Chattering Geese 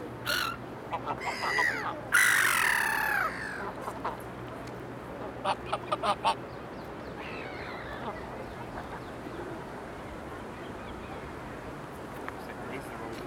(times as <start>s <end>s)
0.3s 4.2s